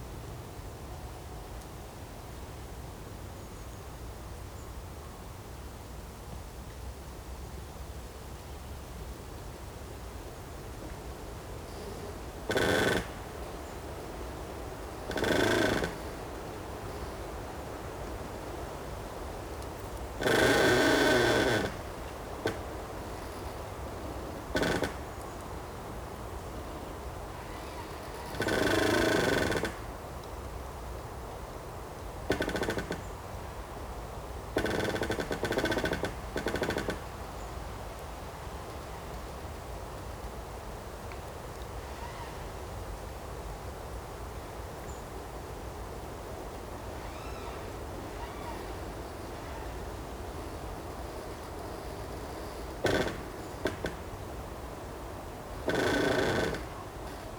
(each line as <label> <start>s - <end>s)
Creaking tree 1 internal and external 11.7s - 17.9s
Creaking tree 1 internal and external 19.6s - 25.4s
Creaking tree 1 internal and external 27.3s - 30.0s
Creaking tree 1 internal and external 32.2s - 33.2s
Creaking tree 1 internal and external 34.6s - 37.2s
Creaking tree 1 internal and external 41.8s - 42.5s
Creaking tree 1 internal and external 46.7s - 54.7s
Creaking tree 1 internal and external 55.5s - 57.3s